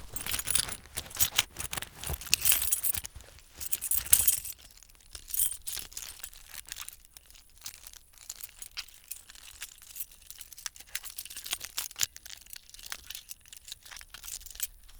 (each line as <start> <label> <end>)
0.0 fiddling his car keys in his hand 4.6